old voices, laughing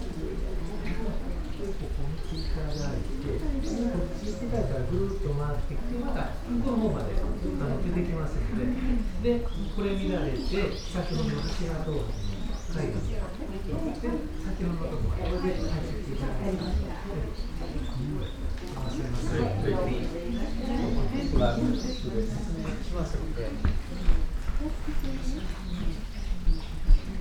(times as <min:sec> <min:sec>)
0:12.4 0:23.3